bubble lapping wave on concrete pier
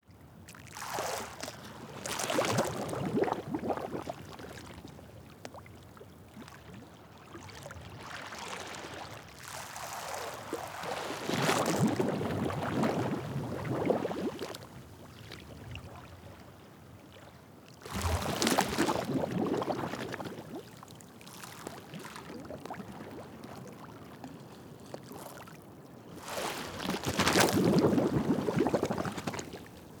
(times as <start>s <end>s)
0.7s 5.6s, 7.5s 14.8s, 17.9s 23.9s, 26.1s 30.0s